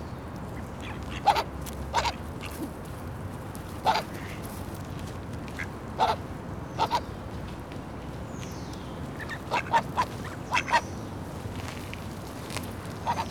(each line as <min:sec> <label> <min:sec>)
0:00.5 ducks 0:02.7
0:03.7 ducks 0:04.7
0:05.4 ducks 0:06.2
0:06.8 ducks 0:07.1
0:09.2 ducks 0:10.8
0:12.9 ducks 0:13.3